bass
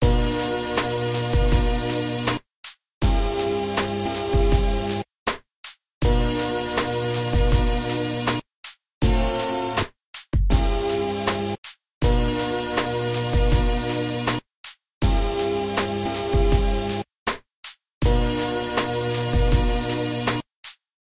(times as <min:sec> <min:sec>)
0:00.0 0:02.4, 0:03.0 0:05.1, 0:06.0 0:08.4, 0:09.0 0:14.4, 0:15.0 0:17.1, 0:18.0 0:20.4